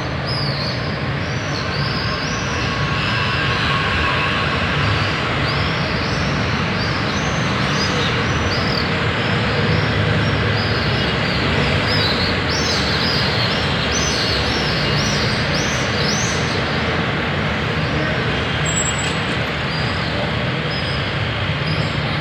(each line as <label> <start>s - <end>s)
traffic 0.0s - 22.2s
tram sound in the background 1.0s - 12.5s